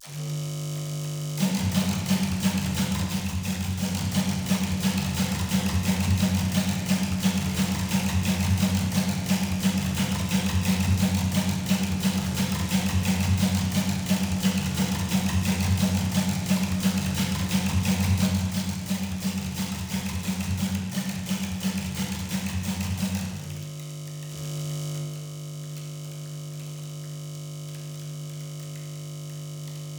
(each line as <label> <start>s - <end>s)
Bass Drum 1.4s - 23.8s
Snare Drum 1.4s - 23.6s